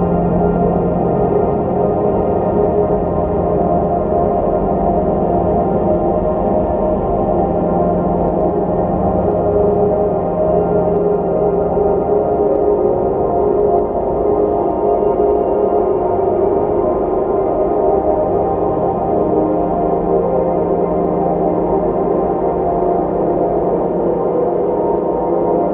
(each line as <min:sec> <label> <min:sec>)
0:00.0 slowly evolving dreamy ambient drone pad 0:25.7